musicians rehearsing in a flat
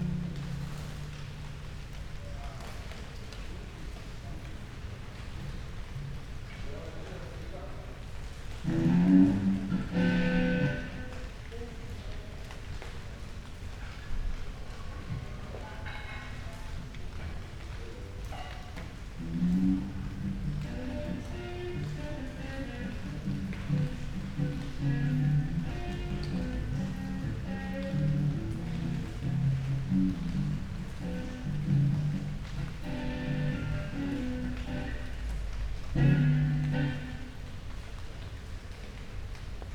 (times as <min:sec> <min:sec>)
0:08.7 0:11.2, 0:19.2 0:35.3, 0:35.9 0:37.4